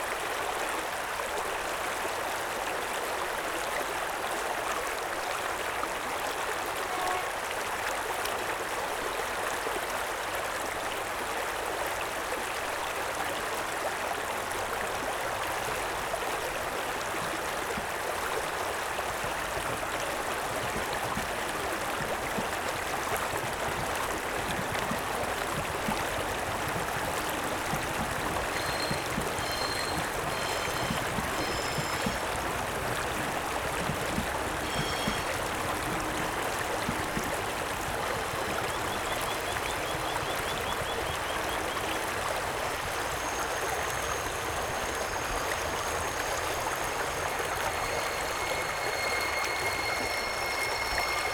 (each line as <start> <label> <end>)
0.0 Running creek 51.3
6.6 train squeeks around the bend 7.6
22.0 train squeeks around the bend 51.3